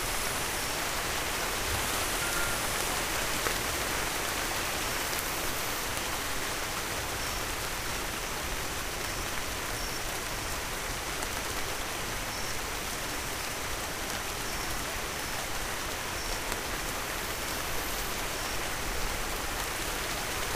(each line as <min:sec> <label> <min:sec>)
0:00.1 crickets 0:03.2